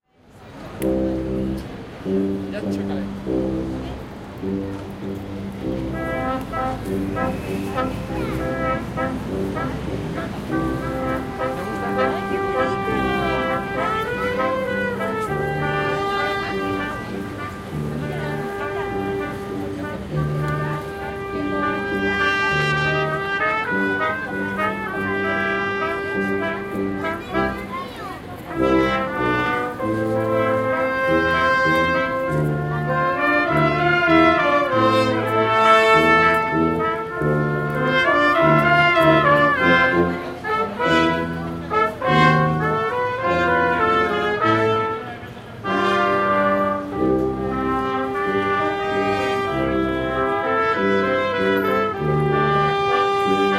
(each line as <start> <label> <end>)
0.0 street brass band playing 53.5